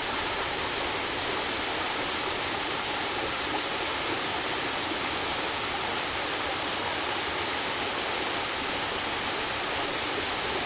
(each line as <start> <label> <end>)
0.0 stream 10.6
0.0 waterfalls 10.6